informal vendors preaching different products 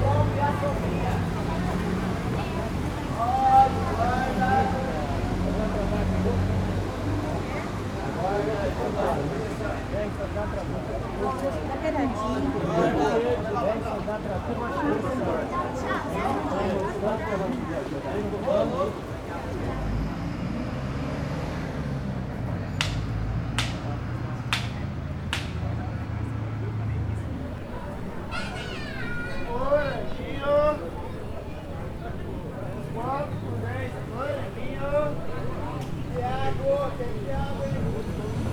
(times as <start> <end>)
27.2 38.5